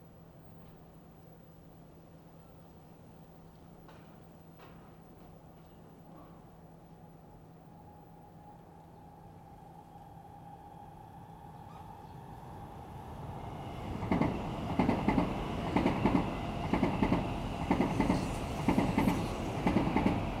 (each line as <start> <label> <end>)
0.0 subway trains 20.4